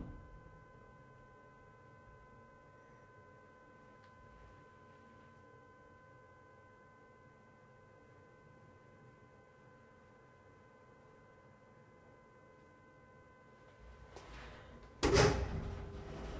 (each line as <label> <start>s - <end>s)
Elevator sound 13.8s - 16.3s
door 14.4s - 16.3s